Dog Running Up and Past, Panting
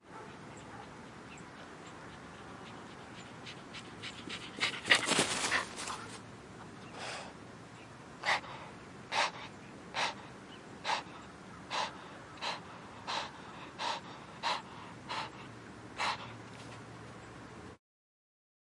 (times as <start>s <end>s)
2.0s 6.2s